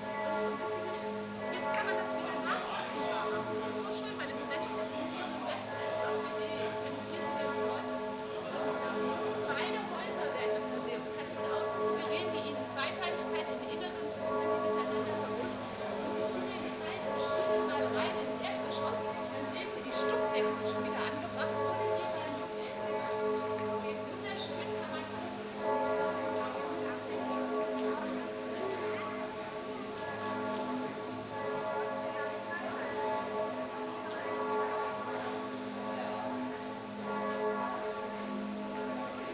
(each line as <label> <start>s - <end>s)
bells are tolling 10.6s - 39.3s